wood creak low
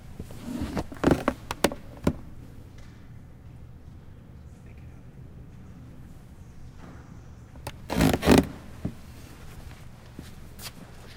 0.4 2.2, 7.6 9.0

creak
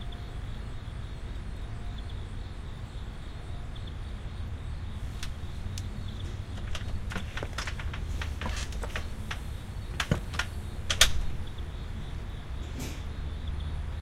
5.2 11.6

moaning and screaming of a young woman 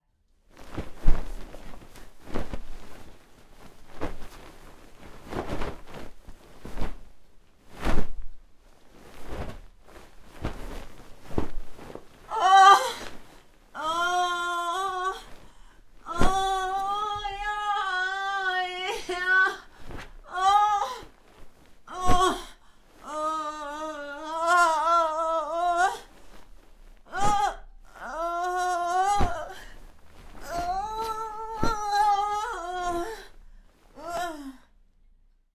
12.3 13.0, 13.8 15.3, 16.1 19.6, 20.3 21.1, 21.9 22.5, 23.1 26.1, 27.1 29.7, 30.4 33.3

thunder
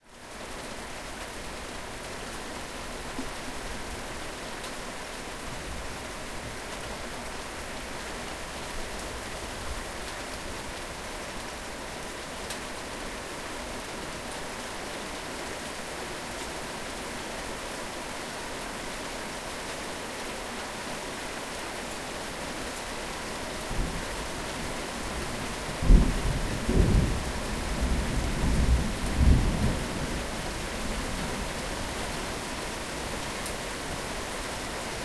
25.8 29.9

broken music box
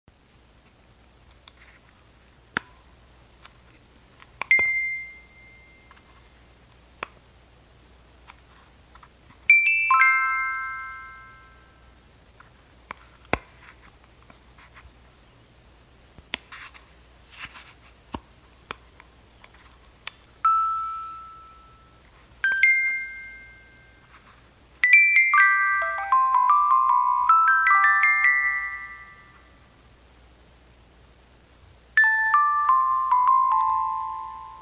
4.5 6.0, 20.5 24.1, 32.0 34.6

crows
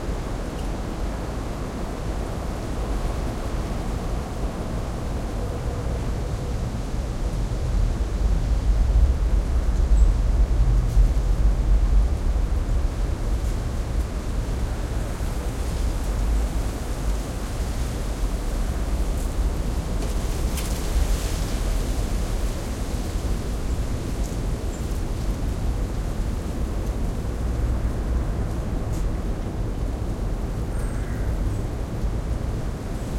30.8 31.4

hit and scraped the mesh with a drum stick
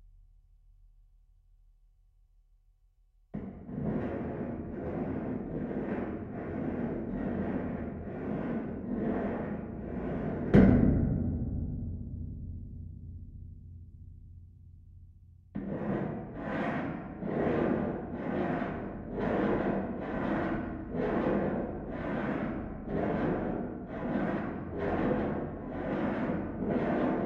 3.4 13.6

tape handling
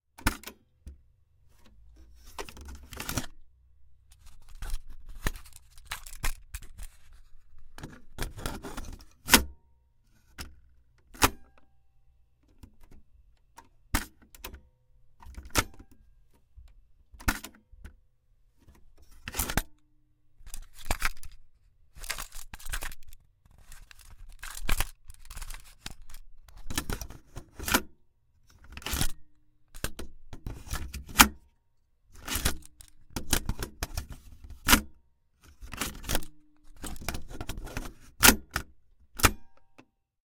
20.5 26.2

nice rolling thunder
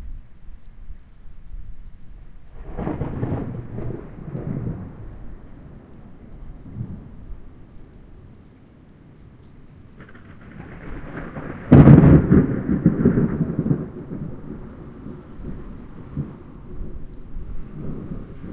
2.4 7.5, 10.0 18.5

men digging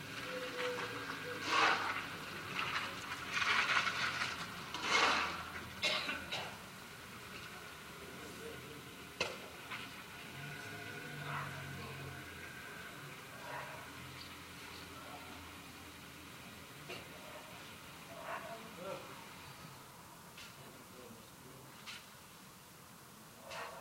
0.0 7.7

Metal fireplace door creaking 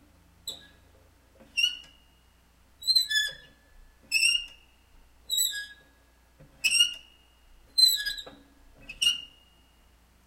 2.8 4.6, 7.8 9.4

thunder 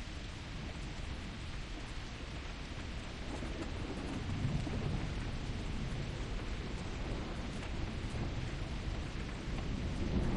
3.2 10.3

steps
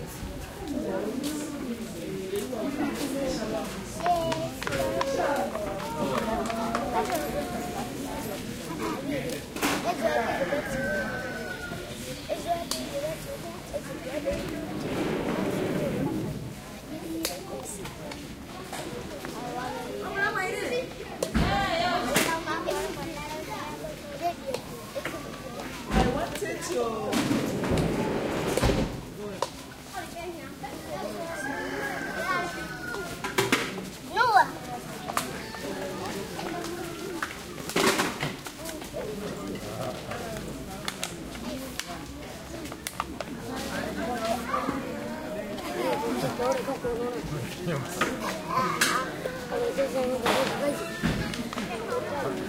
13.6 19.4

